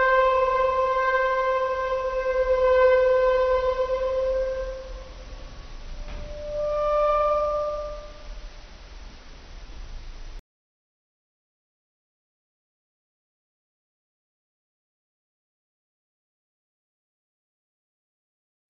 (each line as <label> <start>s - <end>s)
Metal stretch and scrape 0.0s - 8.5s